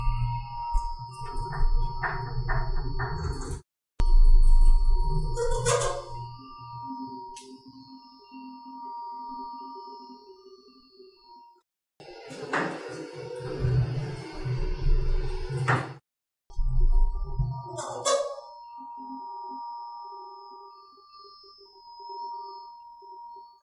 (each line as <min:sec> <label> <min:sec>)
0:00.0 Elevator Moving 0:03.6
0:04.3 Elevator Moving 0:06.4
0:05.2 squeak 0:06.5
0:12.1 Elevator Moving 0:16.0
0:16.9 Elevator Moving 0:18.6
0:17.5 squeak 0:18.8